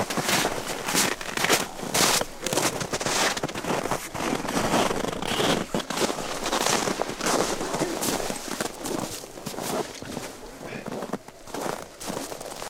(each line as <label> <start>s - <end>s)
footsteps boots crunchy snow 0.0s - 12.6s